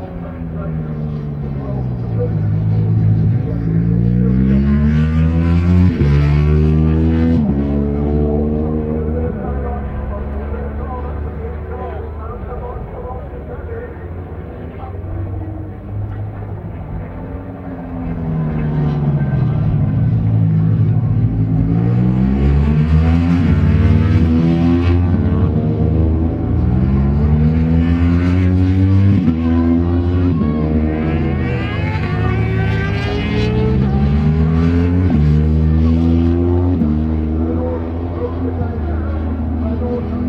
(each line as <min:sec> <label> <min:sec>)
0:00.0 commentary 0:19.7
0:21.6 commentary 0:40.2